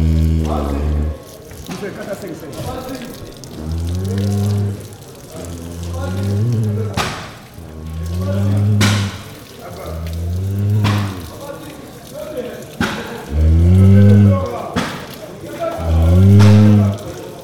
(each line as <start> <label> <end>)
3.5 last breath of a cow 11.4